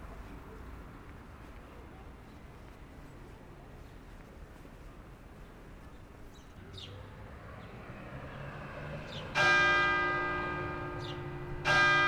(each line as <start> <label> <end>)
0.0 tramways passing by 12.0
9.3 church ringing the hour of the day 12.0